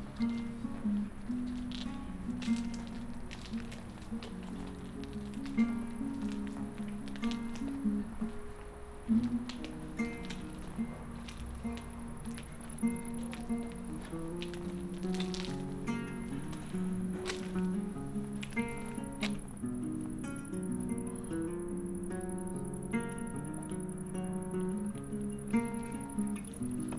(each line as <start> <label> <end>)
0.0 gathering in the garden 26.9
0.0 idling on the guitar 26.9